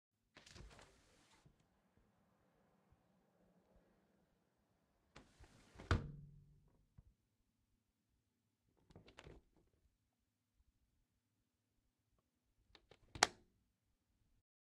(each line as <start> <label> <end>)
0.3 Opening and closing a window 1.6
5.2 Opening and closing a window 6.2